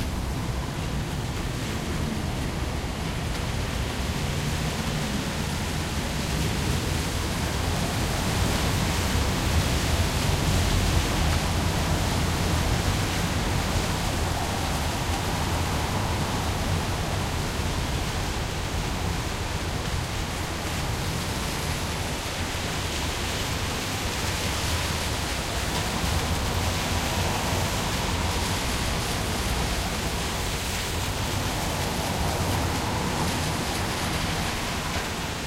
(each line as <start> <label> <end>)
0.0 Rain 35.4
0.0 vehicles passing and stopping at the traffic light 35.4